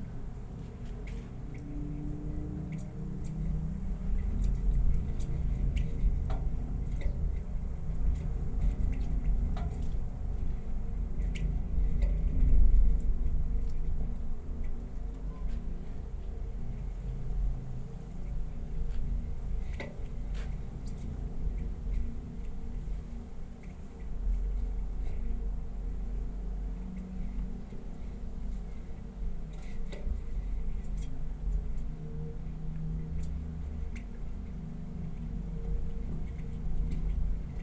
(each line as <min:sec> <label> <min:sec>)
0:00.0 inside the flag pole 0:37.6